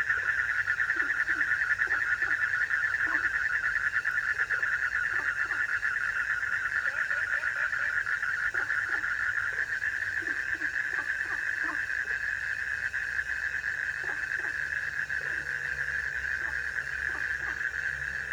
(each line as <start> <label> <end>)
0.0 Frogs chirping 18.3